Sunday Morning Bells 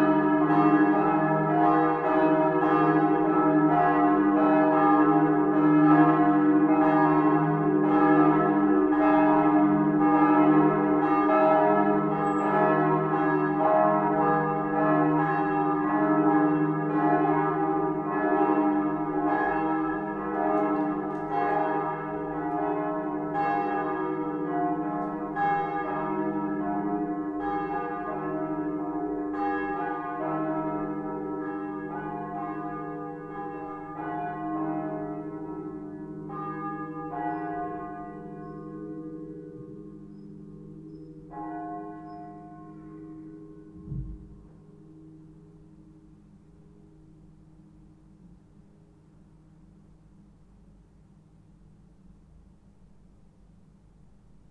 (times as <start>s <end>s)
9.8s 15.0s, 35.5s 43.2s